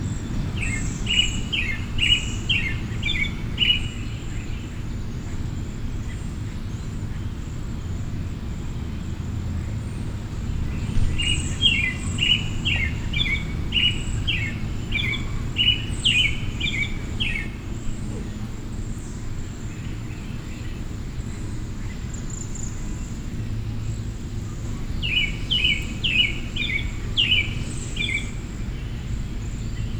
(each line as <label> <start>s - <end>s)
droning of several air conditioners 0.0s - 29.9s